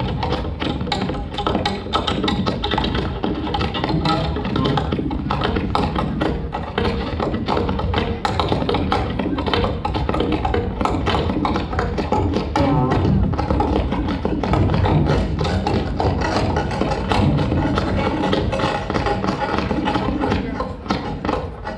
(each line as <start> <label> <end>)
0.0 french performance group 21.7